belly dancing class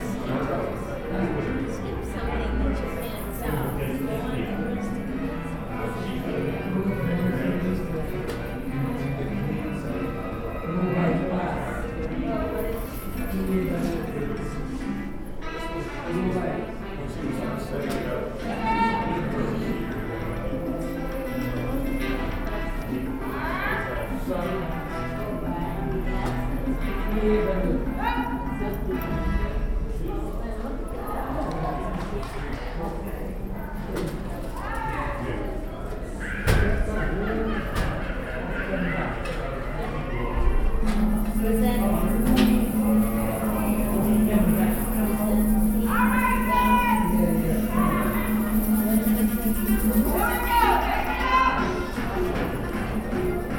40.7s 53.5s

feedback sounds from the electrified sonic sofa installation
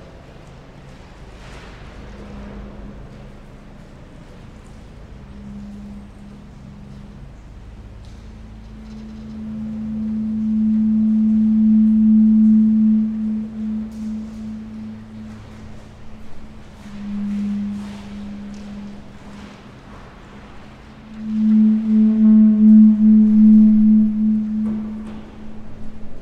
5.1s 7.3s, 8.3s 26.2s

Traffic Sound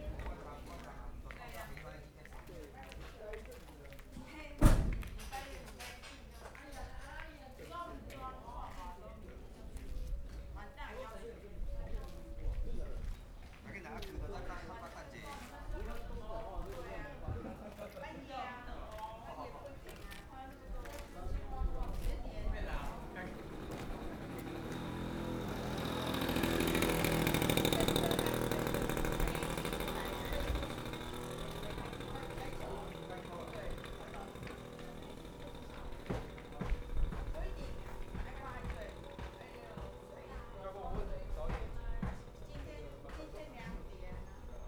22.0s 44.6s

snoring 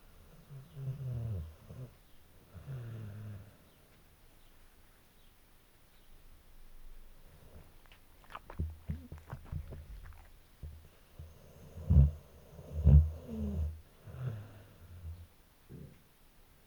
0.4s 1.9s, 2.5s 3.6s, 11.2s 15.9s

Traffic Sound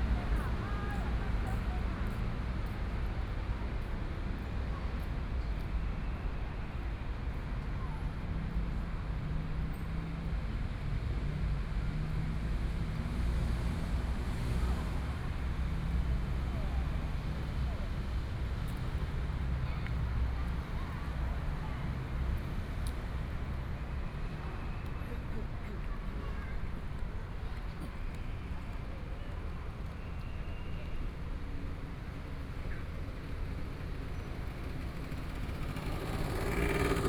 12.1s 37.0s

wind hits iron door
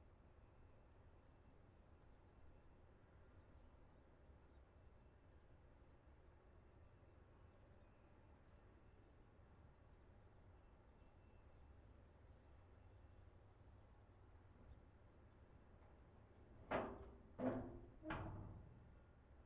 14.6s 19.2s

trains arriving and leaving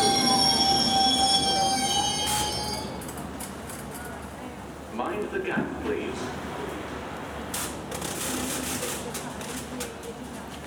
0.0s 7.8s

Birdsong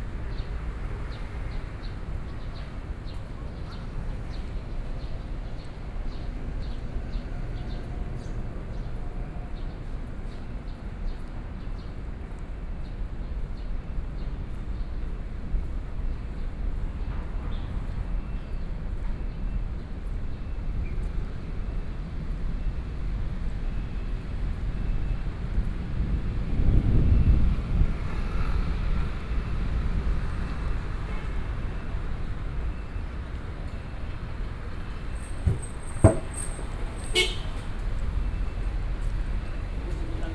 33.7s 40.3s

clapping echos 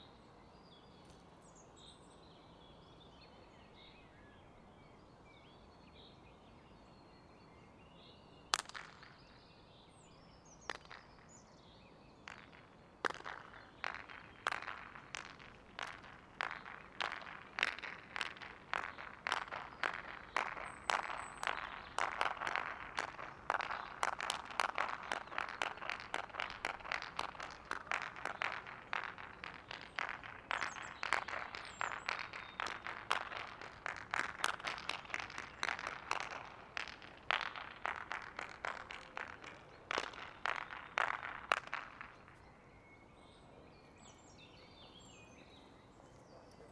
8.5s 9.5s, 10.6s 42.4s

